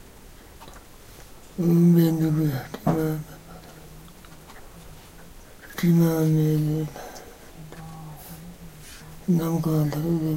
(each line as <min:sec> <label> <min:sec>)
0:01.5 GrandFatherRecitingSutras 0:10.3